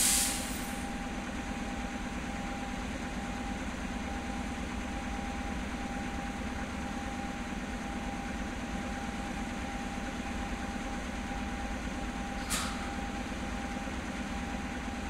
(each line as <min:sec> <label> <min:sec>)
0:00.0 Passage of a diesel locomotive 0:15.0
0:00.0 Passage of a freight train 0:15.0